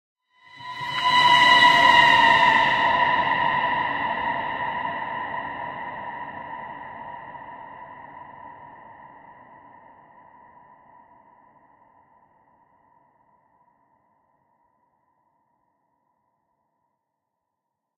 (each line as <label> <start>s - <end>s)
Ghost scream 0.4s - 8.1s